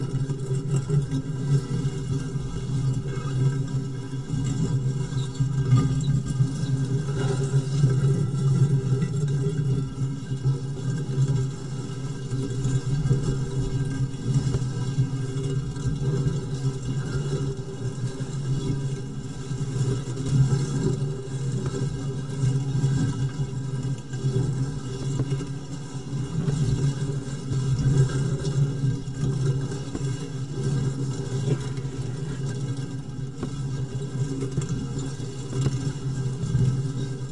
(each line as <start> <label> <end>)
0.0 water 37.3